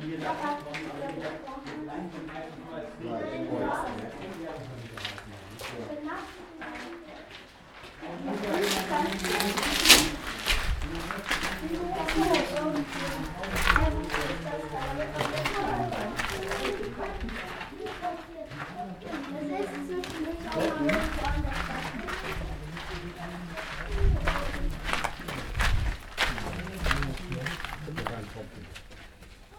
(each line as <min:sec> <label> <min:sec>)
0:00.0 group 0:29.5